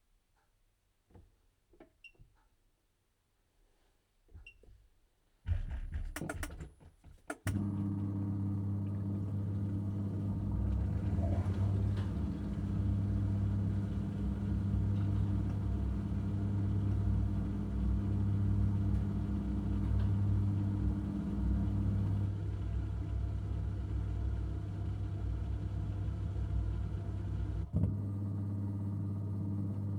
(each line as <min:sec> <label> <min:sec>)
0:08.8 dish washer 0:16.0